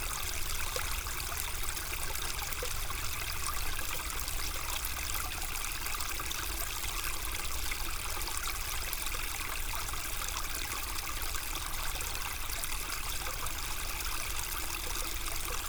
0.0s very quiet Ry Pirot stream, flowing 15.6s

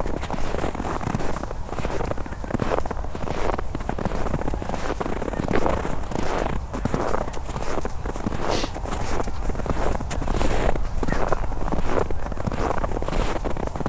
0.0s steps in the snow 13.8s

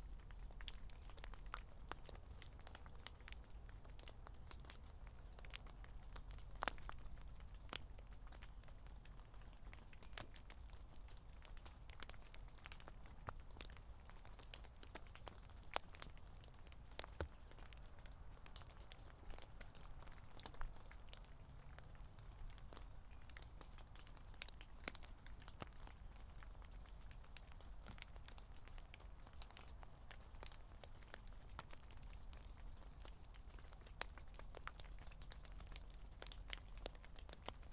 0.0s rain drops falling from an Oak tree onto damp ground 37.7s

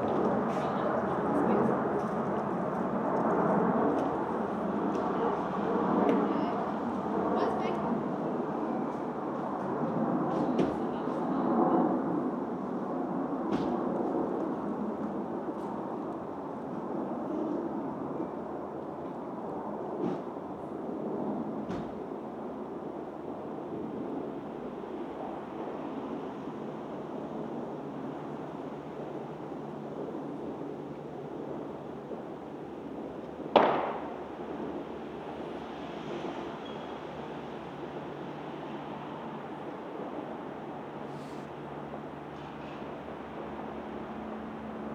33.5s Fireworks 34.2s

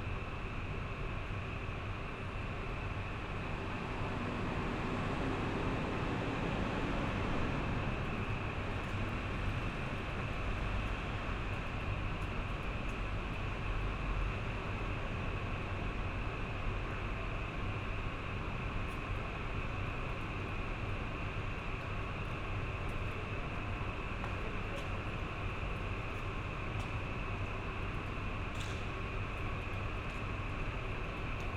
0.1s bus leaving station 31.5s

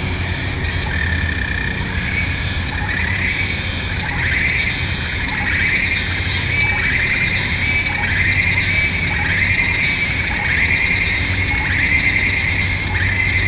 0.0s Dusk chorus 13.4s
0.0s busy road 13.4s

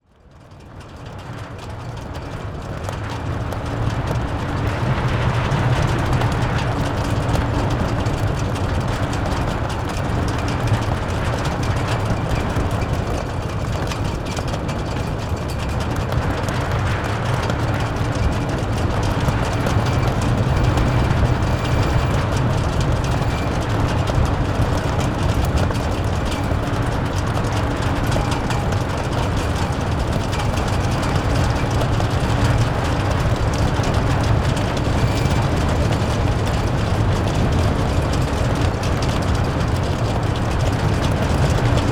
0.0s Wind blowing through the Hague Beach Stadium 41.9s

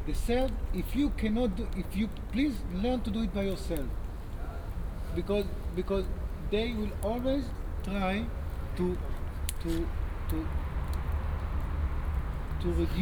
0.0s campfire 13.0s
12.6s people talking 13.0s

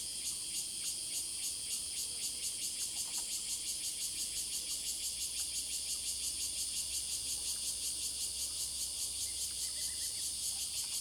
3.4s Cicadas sound 11.0s

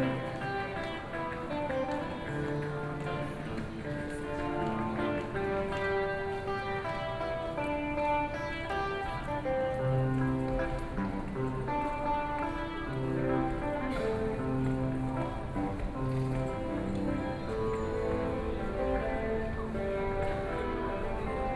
0.0s Walking through the station 21.5s

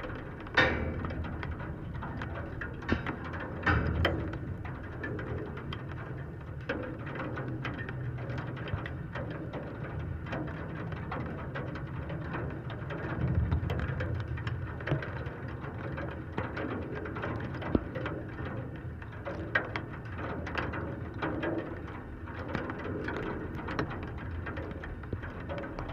0.0s metallic bridge 5.4s
0.0s drizzle rain 25.9s

